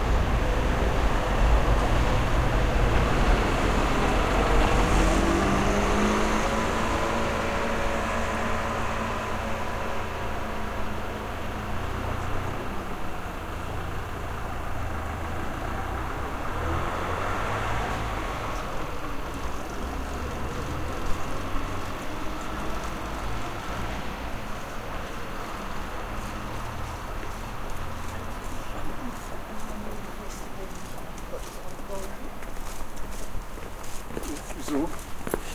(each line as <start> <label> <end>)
0.0 Traffic 35.5
0.0 elektrotram 35.5